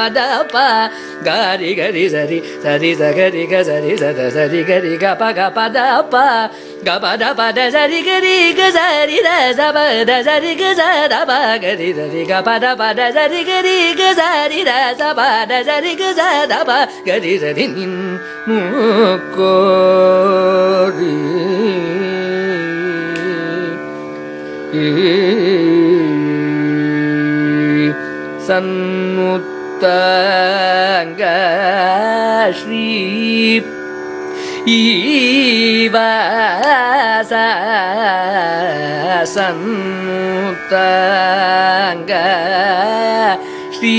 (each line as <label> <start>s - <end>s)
Carnatic vocalist 0.0s - 43.9s